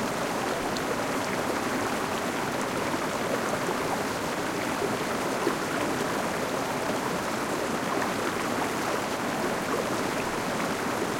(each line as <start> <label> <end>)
0.0 small river 11.1